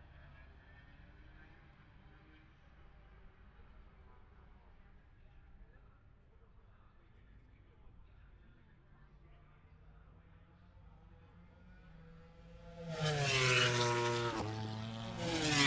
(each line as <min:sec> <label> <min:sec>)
0:09.8 moto grand prix qualifying 0:15.6